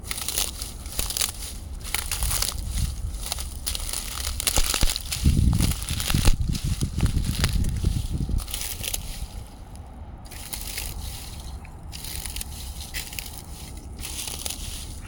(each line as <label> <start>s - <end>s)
Dry brush being crunched under walking 0.0s - 15.0s